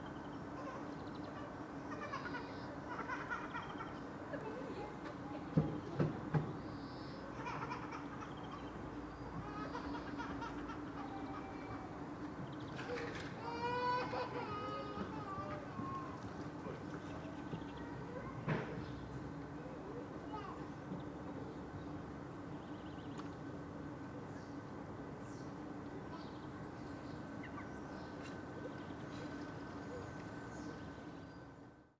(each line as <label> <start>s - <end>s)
a child cries 13.3s - 16.2s